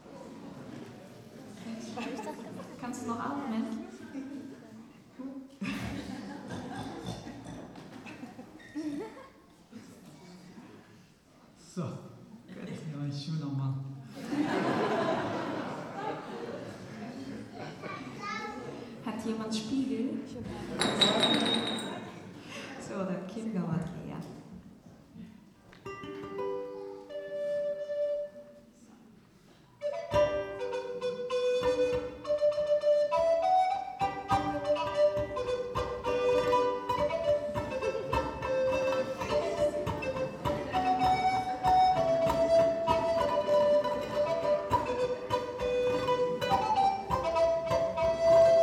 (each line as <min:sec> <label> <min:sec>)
0:25.8 playing a traditional bavarian melodie 0:28.8
0:29.8 playing a traditional bavarian melodie 0:48.6